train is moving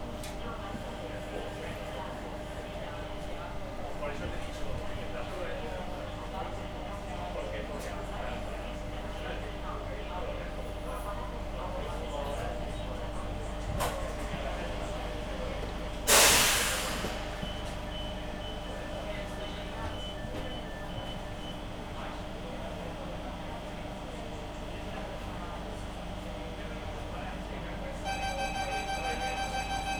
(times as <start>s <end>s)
10.6s 22.9s, 27.4s 29.9s